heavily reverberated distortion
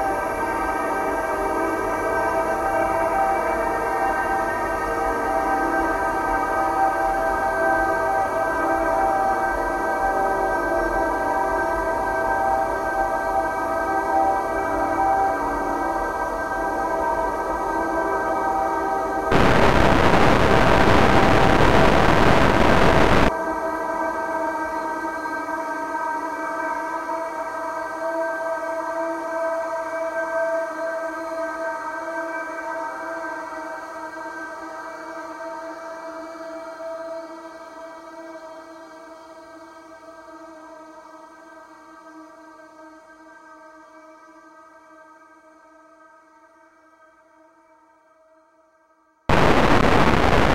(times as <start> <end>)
19.3 23.3, 49.3 50.5